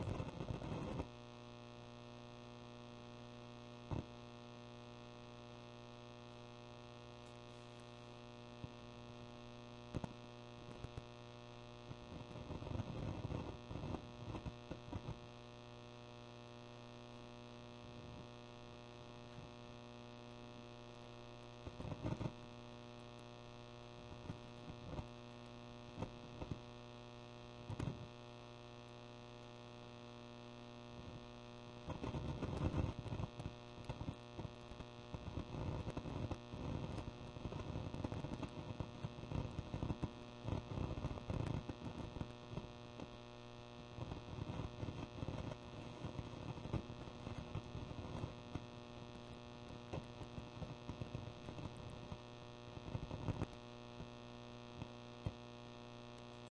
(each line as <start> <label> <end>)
0.0 crackle 56.5
0.0 amp noise 56.5